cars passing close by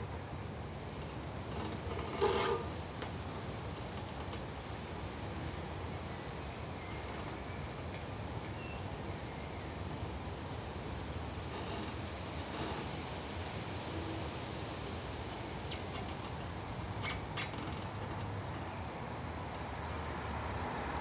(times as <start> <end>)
19.5 21.0